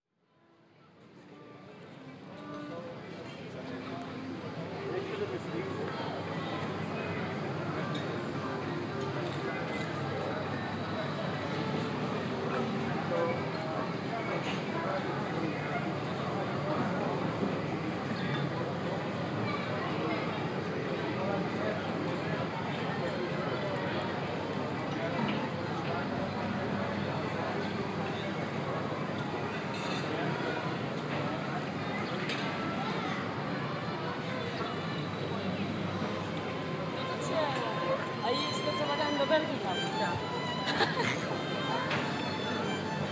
tourists 0.4 - 43.1
violinist 34.8 - 43.1

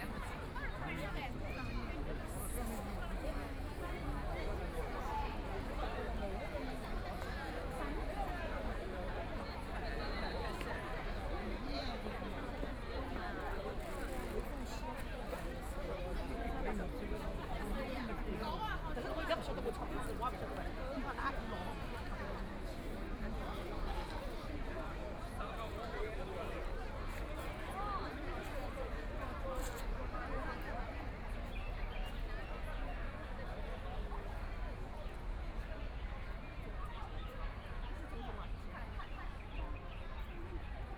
a lot of people 0.0 - 40.9

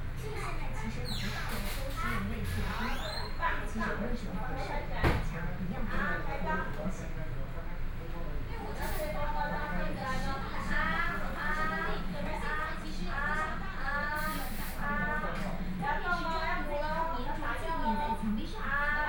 Physicians and the public dialogue 0.0 - 19.0
TV sound 0.2 - 19.0

